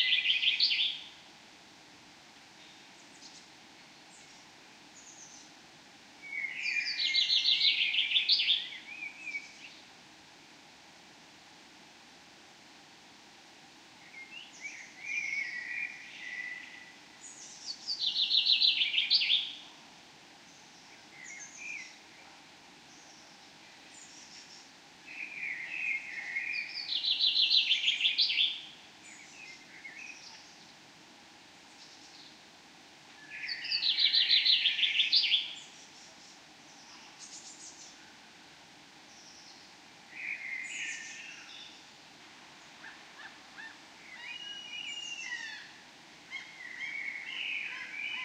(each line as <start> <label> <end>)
6.2 various birds 9.9
20.4 various birds 30.9
33.2 various birds 48.2